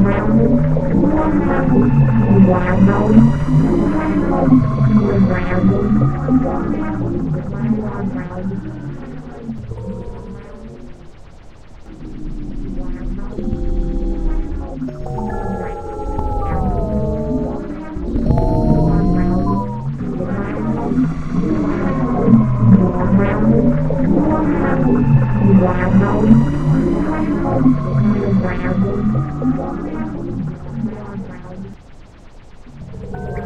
spaceship/ufo engine sound 0.0 - 31.8
spaceship/ufo engine sound 32.5 - 33.4

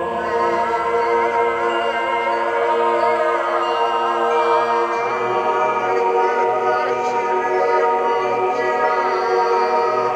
choir 0.0 - 10.1

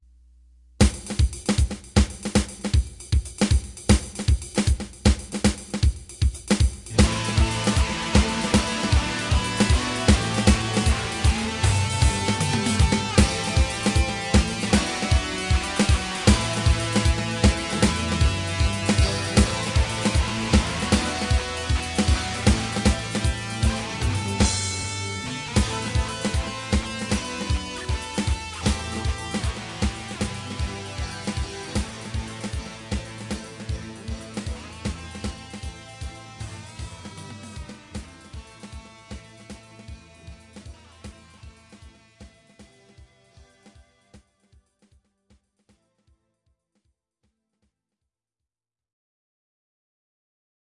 drums 0.8 - 45.4
heavy guitar playing in octaves 6.9 - 42.2

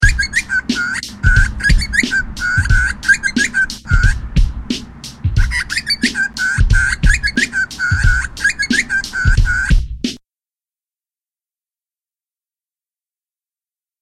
bird 0.0 - 4.2
drum work 0.0 - 10.2
bird 4.8 - 9.8

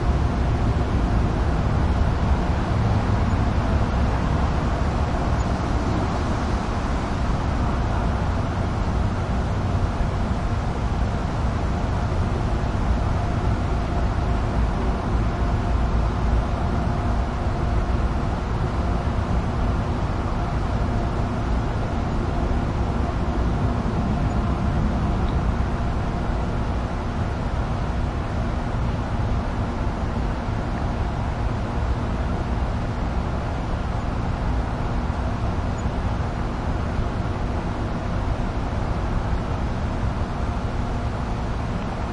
light distant passing cars 0.0 - 42.1
ventilation 0.0 - 42.1

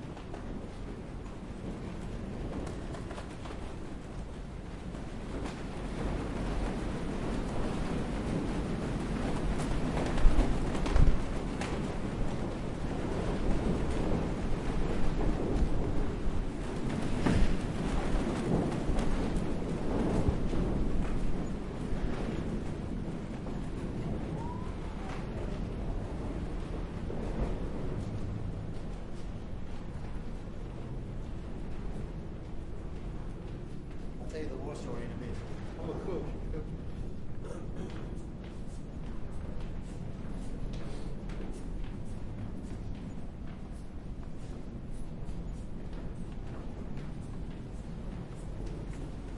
fabric flapping 0.0 - 49.3
wind 0.0 - 49.3

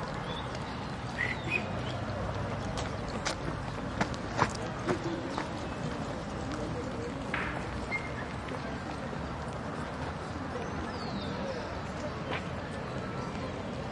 distant traffic 0.0 - 13.9
people and groups walk by steps 0.0 - 13.9

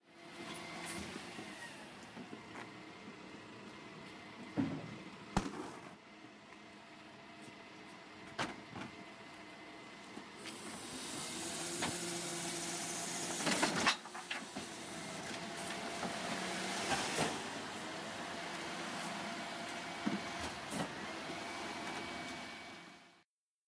bin being emptied 5.4 - 6.0

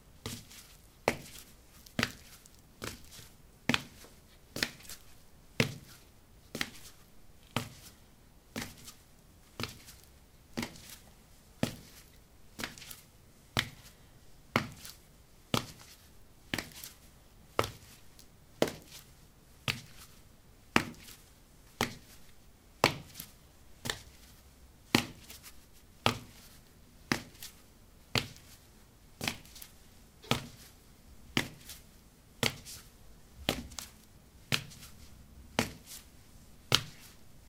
Walking on ceramic tiles 0.3 - 8.0
Walking on ceramic tiles 31.3 - 36.1

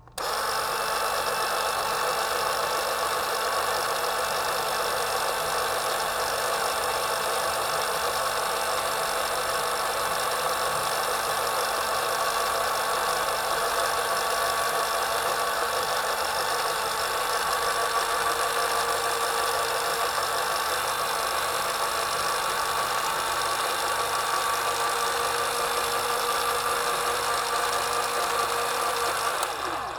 electric shoe shine buffing machine turning on, running, turning off 0.0 - 29.9

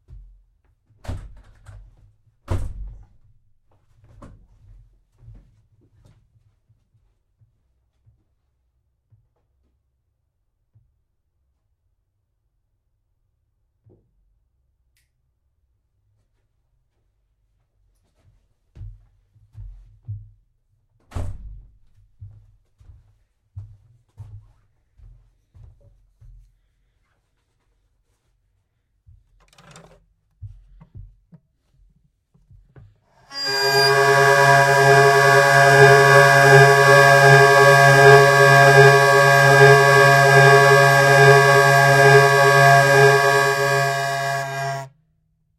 Tuning peg 33.3 - 44.9
hurdy-gurdy playing 33.3 - 44.9

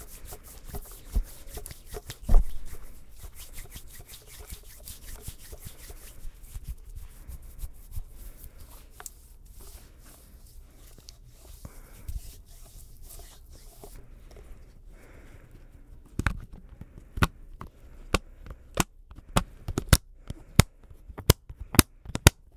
mexendo no silicone 0.0 - 14.0
estralando o silicone 0.0 - 14.1

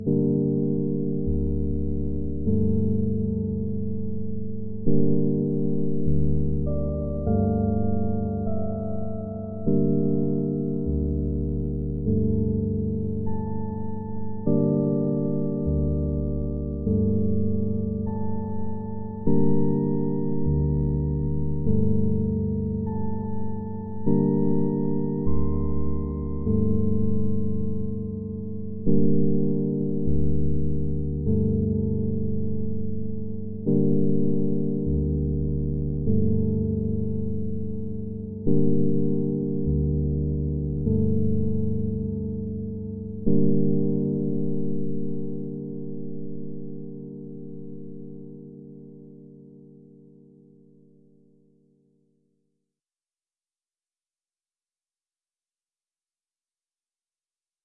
bass 0.0 - 46.9
electric piano 0.0 - 51.4

